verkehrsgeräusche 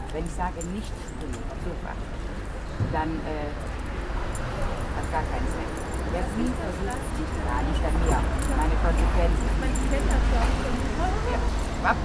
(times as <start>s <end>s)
4.5s 12.0s